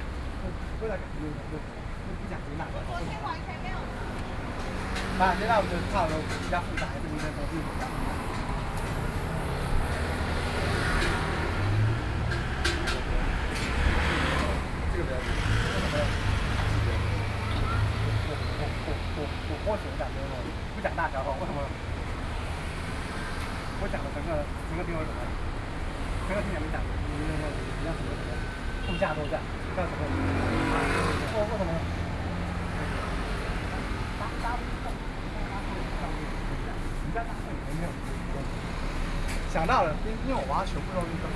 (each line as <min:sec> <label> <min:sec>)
0:00.0 Traffic Sound 0:41.3